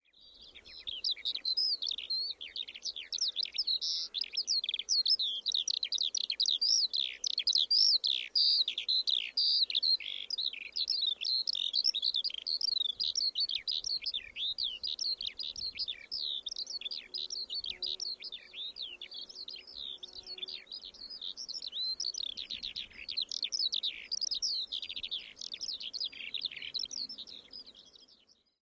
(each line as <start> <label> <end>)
0.4 Eurasian Skylark (Alauda arvensis),song of the male in hovering flight 28.2